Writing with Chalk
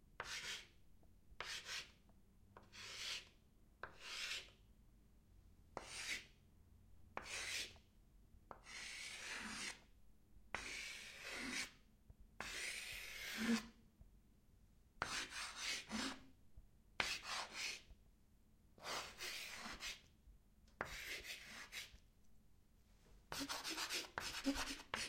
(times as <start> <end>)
0.2 0.8, 1.4 2.0, 2.6 4.6, 5.8 6.4, 7.2 7.8, 8.5 9.9, 10.5 11.8, 12.4 13.8, 15.0 16.3, 17.0 17.9, 18.8 20.1, 20.8 22.0, 23.3 25.0